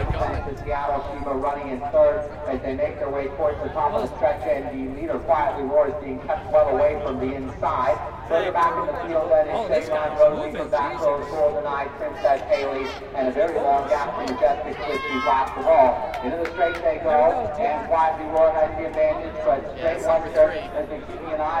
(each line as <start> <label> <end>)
0.0 crowd at the fence during a race 21.6